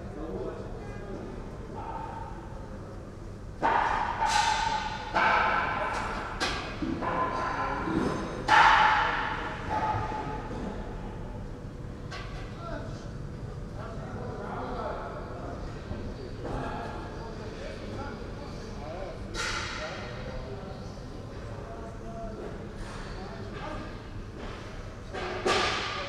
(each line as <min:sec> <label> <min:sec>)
0:03.6 workers install platforms and seating 0:12.6
0:22.4 workers install platforms and seating 0:26.0